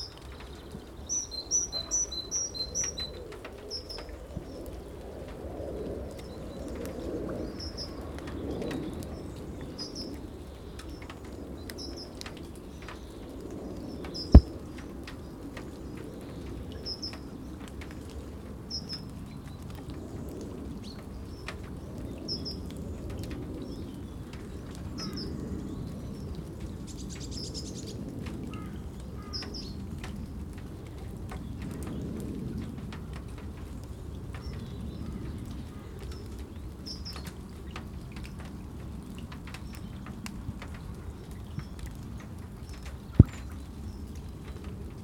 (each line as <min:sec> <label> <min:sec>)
0:00.0 Birds 0:05.0
0:00.0 rain 0:45.0
0:06.1 Birds 0:30.2